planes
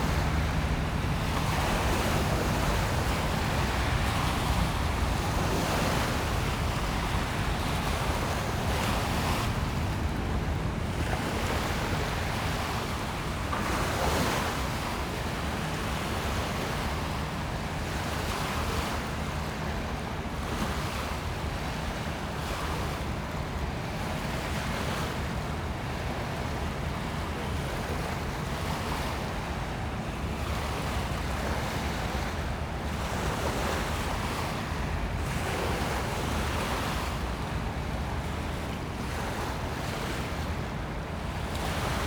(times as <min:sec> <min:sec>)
0:00.0 0:11.0